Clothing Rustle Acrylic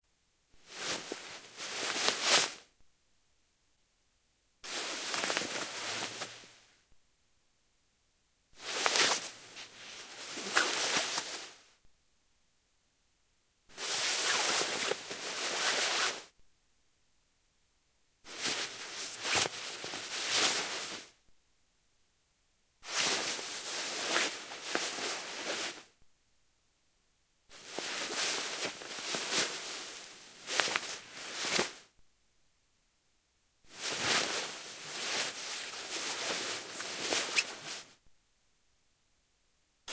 0.6s 2.7s, 4.6s 6.6s, 8.6s 11.7s, 13.7s 16.3s, 18.3s 21.2s, 22.8s 26.0s, 27.5s 31.9s, 33.7s 38.0s

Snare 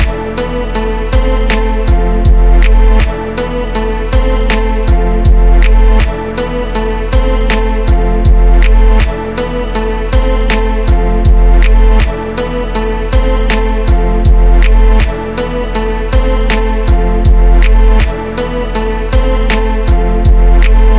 0.0s 0.2s, 1.4s 1.9s, 2.6s 3.2s, 4.4s 4.9s, 5.6s 6.2s, 7.4s 7.9s, 8.6s 9.2s, 10.4s 10.9s, 11.6s 12.2s, 13.4s 13.9s, 14.6s 15.2s, 16.4s 17.0s, 17.6s 18.2s, 19.4s 19.9s, 20.6s 20.9s

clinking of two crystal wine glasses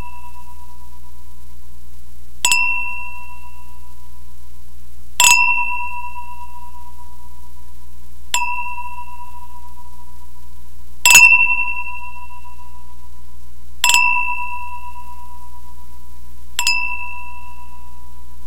2.4s 3.7s, 5.2s 6.8s, 8.3s 9.8s, 11.1s 12.6s, 13.8s 15.3s, 16.6s 17.9s

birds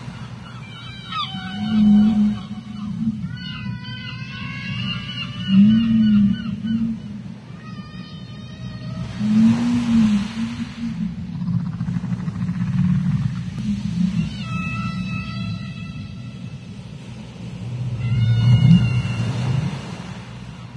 0.0s 10.4s

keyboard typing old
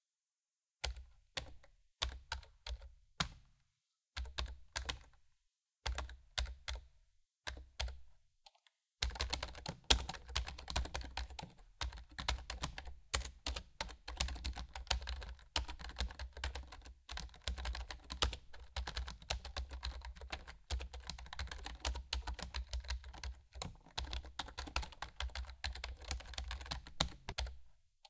9.0s 27.6s

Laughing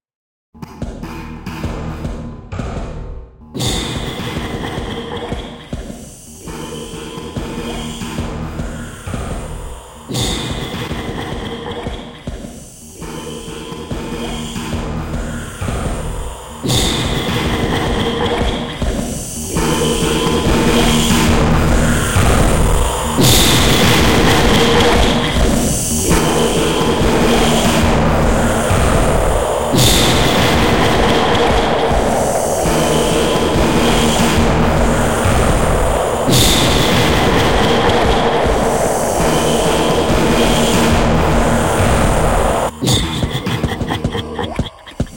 42.8s 45.1s

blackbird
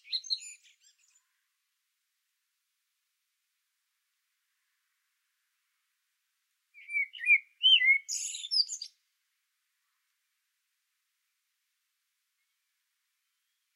0.0s 1.4s, 6.8s 9.0s

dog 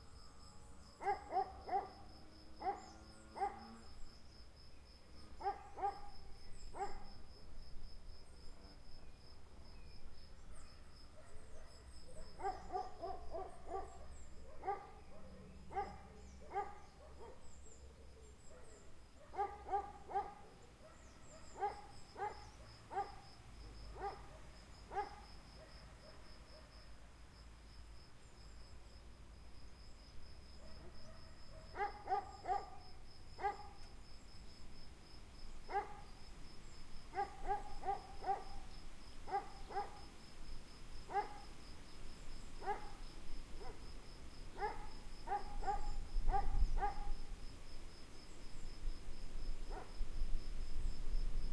1.0s 2.0s, 10.6s 17.4s, 18.5s 23.2s, 24.0s 26.7s, 30.6s 32.8s, 33.4s 33.7s, 35.7s 36.0s, 37.2s 38.6s, 39.3s 40.0s, 41.1s 41.4s, 42.6s 42.9s, 44.6s 47.1s

